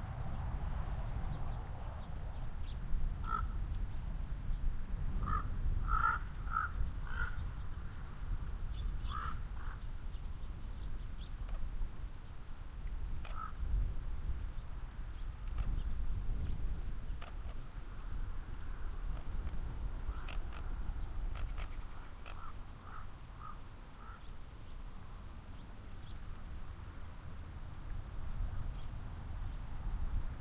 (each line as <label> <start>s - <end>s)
ravens fly overhead 0.0s - 3.6s
birds sing in the cottonwoods 0.0s - 30.4s
steady wind creates wavelets on the lake 0.0s - 30.4s
ravens fly overhead 5.2s - 8.0s
ravens fly overhead 16.9s - 27.0s